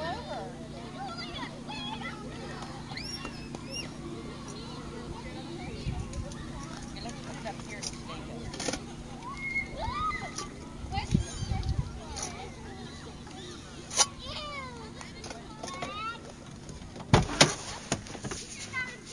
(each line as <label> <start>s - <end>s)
kids running, laughing, and yelling 0.0s - 19.1s
wind noise 10.8s - 12.1s
car door noises 16.8s - 18.4s